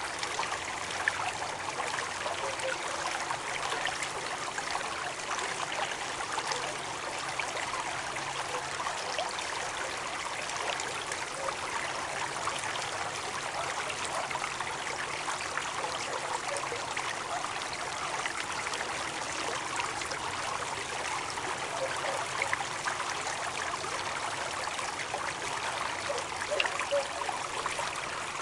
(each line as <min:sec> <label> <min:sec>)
0:00.0 Small stream with faster stream sounds 0:28.4